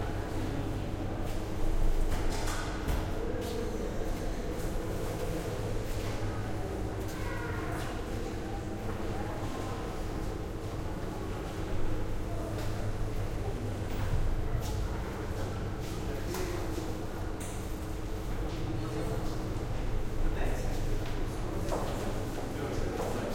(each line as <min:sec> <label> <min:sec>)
0:03.0 People talking 0:23.3
0:04.2 ventilation buzz 0:23.3